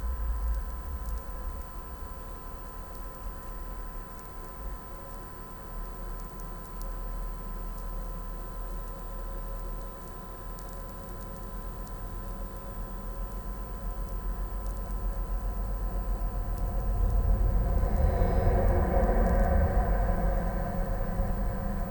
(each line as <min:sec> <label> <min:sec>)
0:13.5 electro field 0:21.9
0:14.4 abandoned railway bridge over the highway 0:21.9